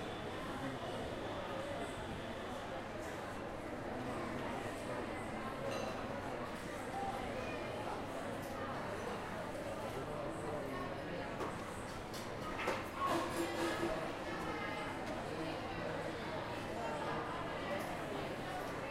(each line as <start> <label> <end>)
0.0 hustle and bustle of the restaurants 18.9